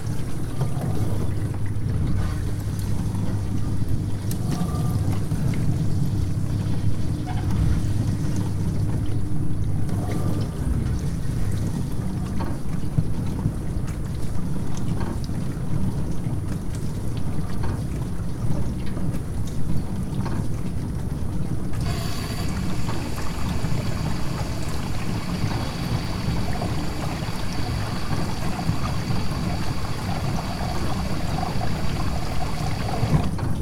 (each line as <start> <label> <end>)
6.6 Dishwasher sounds 8.4
21.8 Dishwasher sounds 33.6